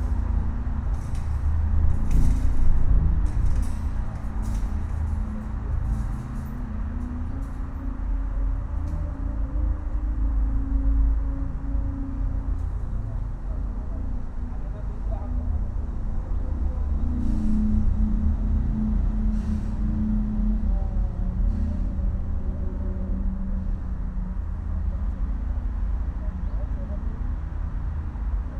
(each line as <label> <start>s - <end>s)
urban rumour filtered through a pvc pipe 0.0s - 28.5s